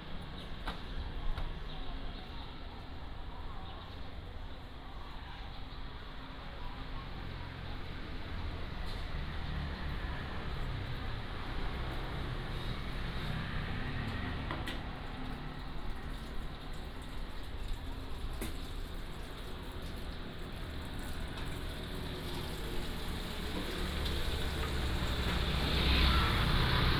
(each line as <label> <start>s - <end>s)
Walking in the street 0.0s - 26.9s
Traffic sound 5.4s - 26.9s
motorcycle 8.7s - 14.9s
motorcycle 21.3s - 26.9s